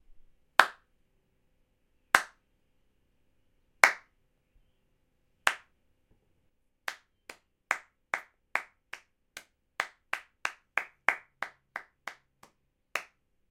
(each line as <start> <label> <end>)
0.6 clapping their hands softly 0.8
2.2 clapping their hands softly 2.4
3.8 clapping their hands softly 4.1
5.5 clapping their hands softly 5.7
6.9 clapping their hands softly 13.2